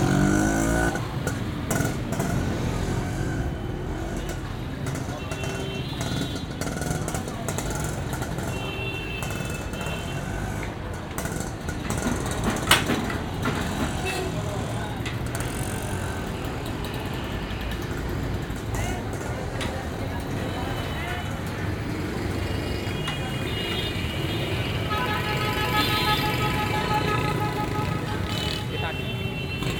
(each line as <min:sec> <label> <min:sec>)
0:00.0 cars 0:29.7
0:00.0 motorbikes 0:29.7
0:09.2 carts pulled by animals 0:29.7
0:09.2 vans 0:23.3
0:24.7 horns 0:29.7